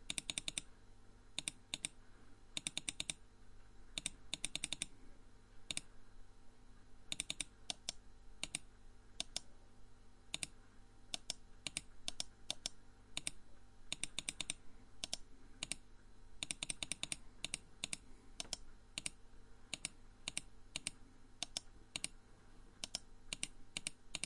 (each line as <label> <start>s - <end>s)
computer mouse clicking 0.0s - 0.7s
computer mouse clicking 1.4s - 2.0s
computer mouse clicking 2.6s - 3.2s
computer mouse clicking 3.9s - 4.9s
computer mouse clicking 5.6s - 5.9s
computer mouse clicking 7.1s - 9.5s
computer mouse clicking 10.3s - 15.8s
computer mouse clicking 16.4s - 22.2s
computer mouse clicking 22.8s - 24.2s